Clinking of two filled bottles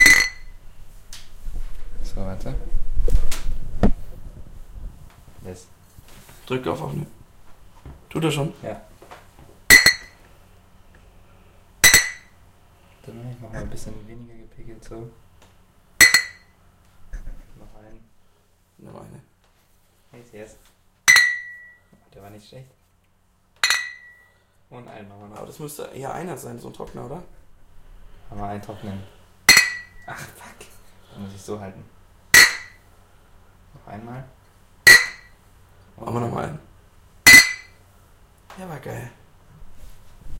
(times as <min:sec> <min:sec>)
0:21.1 0:21.8, 0:23.6 0:24.3